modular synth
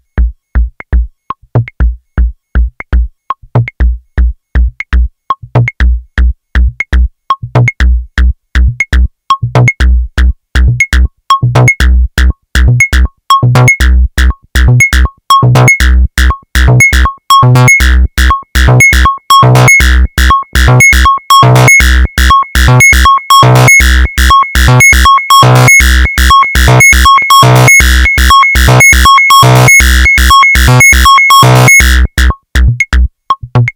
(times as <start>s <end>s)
18.6s 32.3s